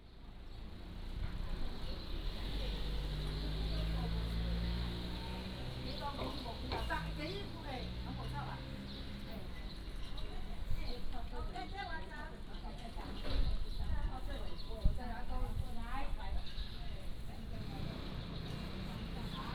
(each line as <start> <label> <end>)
0.0 Wind 19.5